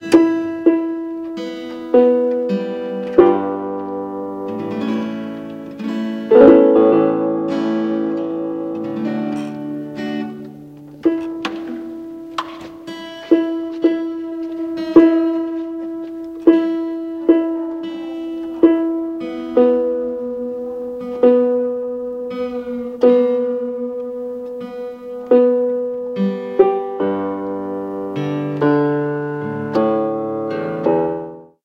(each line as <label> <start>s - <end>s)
tuning guitar 0.0s - 31.5s